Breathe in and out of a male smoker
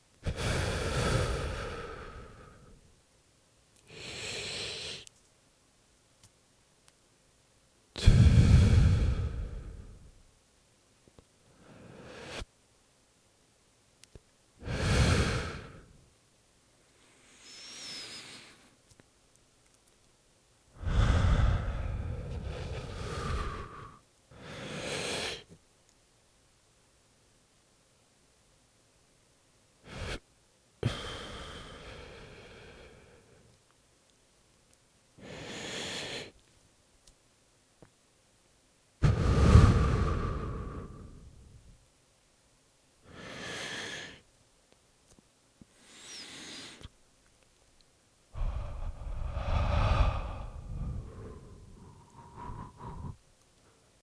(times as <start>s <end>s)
0.0s 2.9s, 3.8s 5.1s, 8.0s 10.2s, 11.4s 12.6s, 14.6s 16.1s, 16.8s 18.8s, 20.7s 25.6s, 29.8s 33.7s, 35.2s 36.5s, 39.0s 41.7s, 43.0s 44.3s, 45.6s 47.0s, 48.3s 54.0s